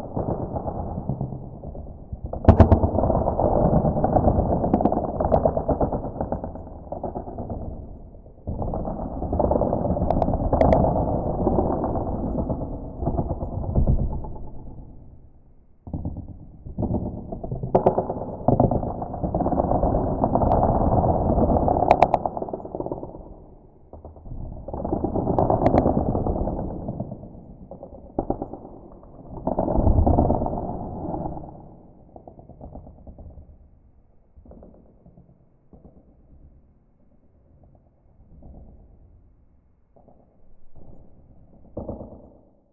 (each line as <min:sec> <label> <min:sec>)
0:00.0 cookiecrack earthquake 0:42.7